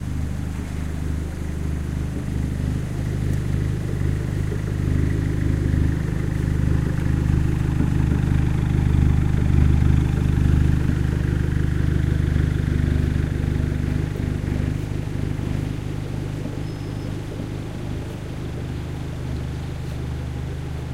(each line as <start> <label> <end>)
0.0 road work 20.9
0.0 truck passing 20.9